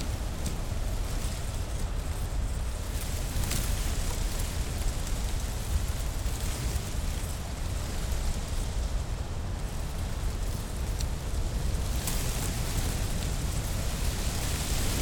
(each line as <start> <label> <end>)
0.0 coastal grasslands in the wind 15.0